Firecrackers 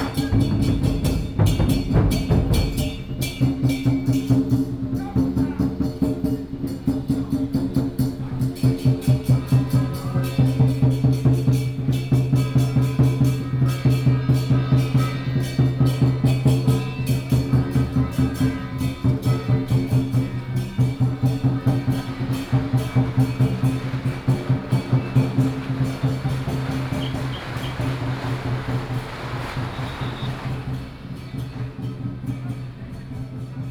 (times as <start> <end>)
8.6 33.2